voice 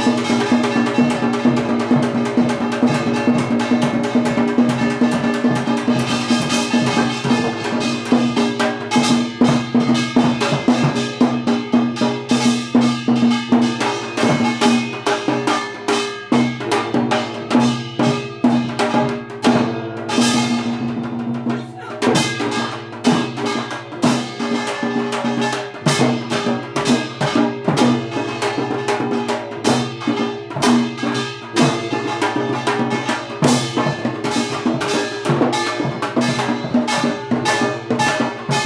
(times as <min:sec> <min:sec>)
0:21.5 0:22.8